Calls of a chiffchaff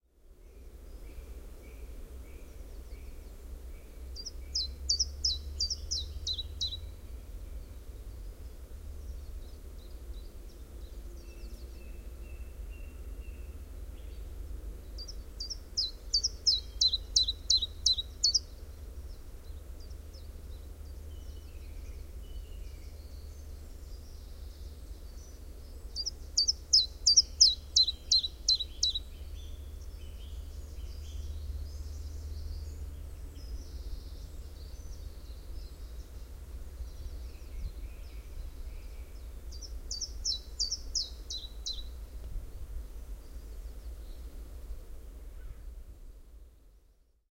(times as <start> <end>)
4.2 6.8, 15.0 18.5, 25.2 31.2, 39.5 41.9